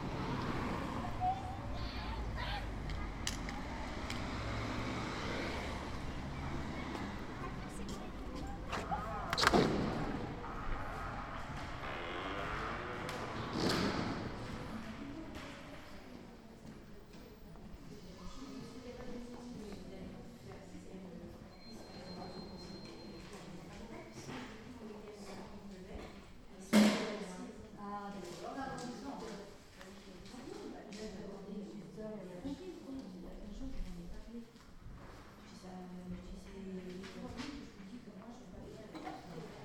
0.0s cars 10.5s
0.0s Children waiting outside are chatting 39.6s
8.6s bizarre door sound 14.9s

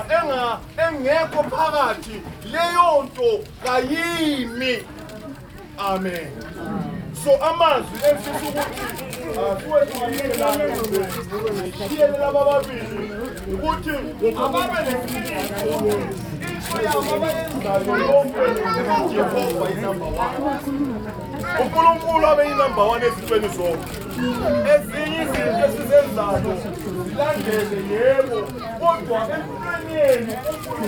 0.0s long speech by a local pastor 30.8s
5.9s prayer 30.8s

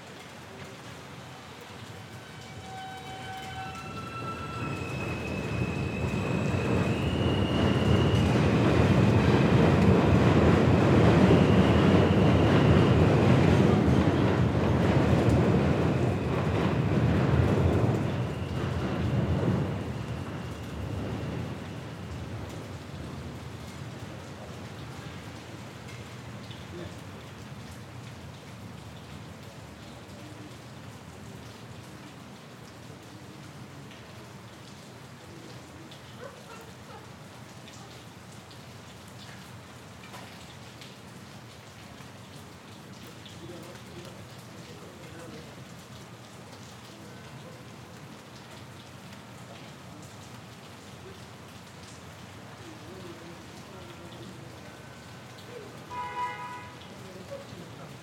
0.0s rain 58.0s
1.3s M Train 24.0s
55.9s M Train 56.8s

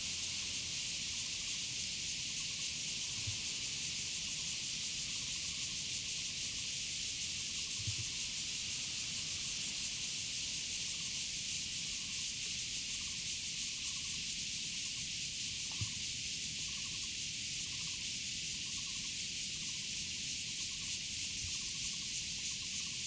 0.0s Cicadas sound 23.0s

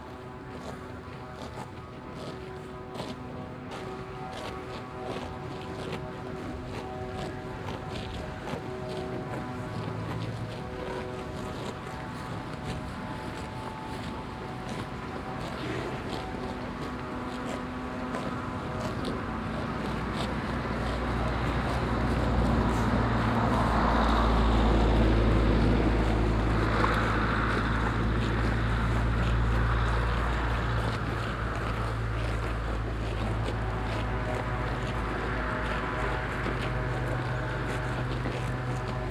0.0s machine sounds coming from the village 39.1s
0.0s passing by cars 39.1s
0.0s windy 39.1s
0.0s cows eating grass 39.1s

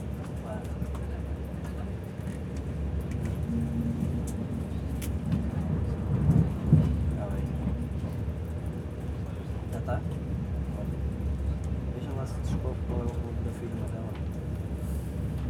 0.0s hum and rumble of the train 15.4s

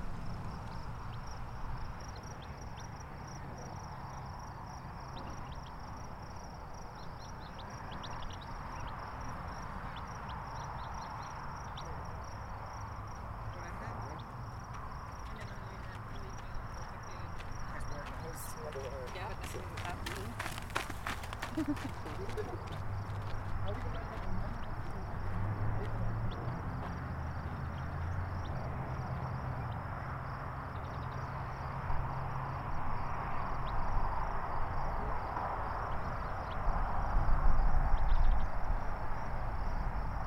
0.0s birds chirping 32.0s
0.0s cars 40.2s
0.0s insects 40.2s
13.5s people walking/ talking 27.6s
37.9s birds chirping 38.6s

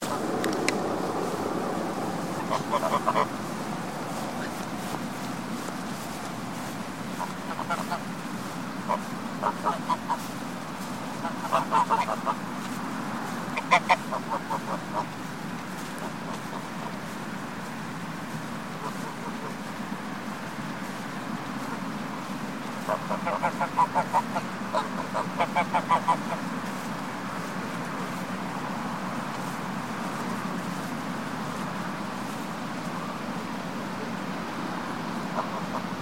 0.0s Swans 36.0s

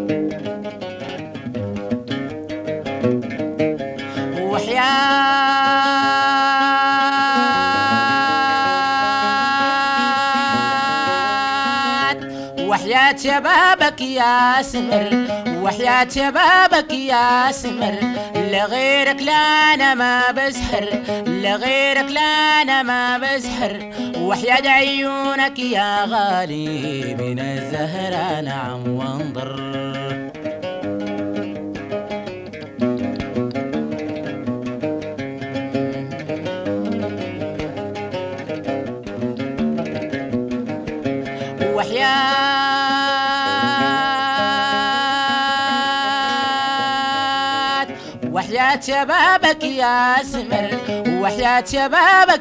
4.1s singer 30.4s
41.4s singer 52.4s

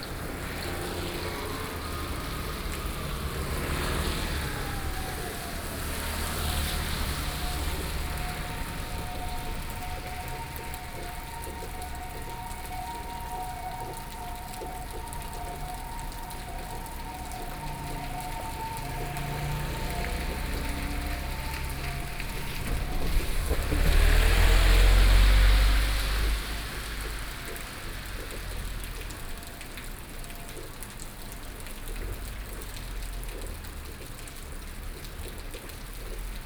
0.0s traffic sounds 36.4s
0.1s Train traveling through 27.9s

